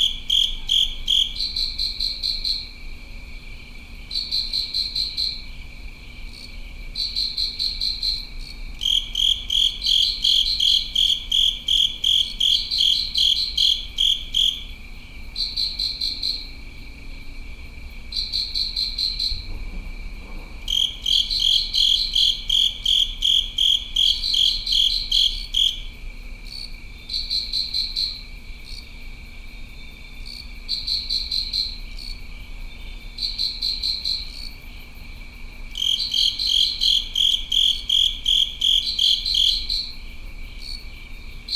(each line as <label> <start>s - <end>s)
crickets within a covered drain 0.0s - 41.5s